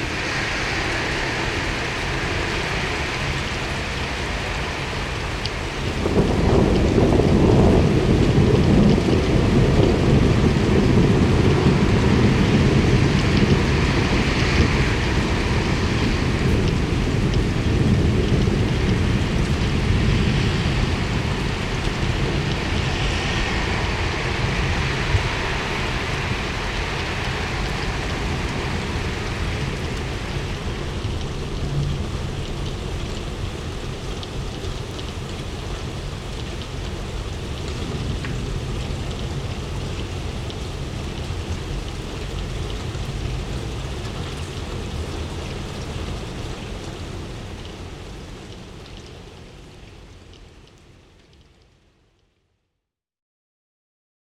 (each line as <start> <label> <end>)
0.0 Thunderstorm 50.3
0.0 rain 52.8